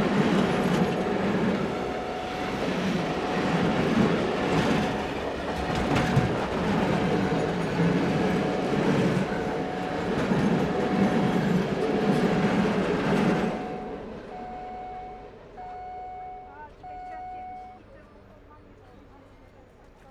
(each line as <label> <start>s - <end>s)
long fright train passes quickly 0.0s - 17.8s